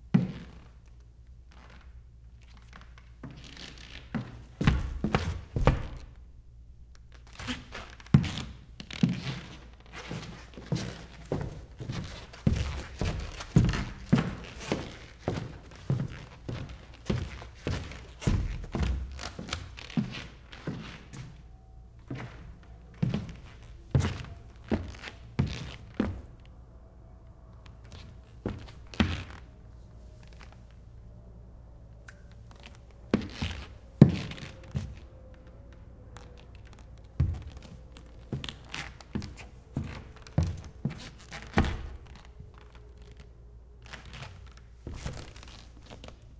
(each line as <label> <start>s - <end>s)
footsteps 7.3s - 26.5s
footsteps 32.4s - 43.2s
footsteps 43.9s - 46.3s